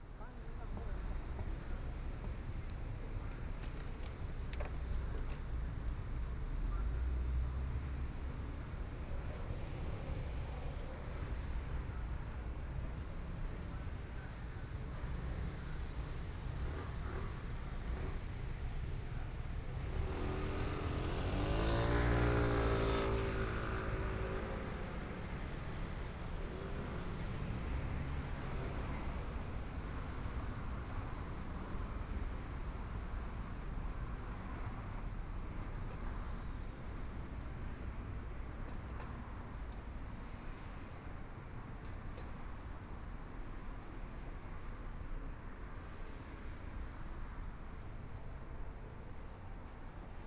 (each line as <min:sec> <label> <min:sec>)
0:00.0 Traffic Sound 0:50.2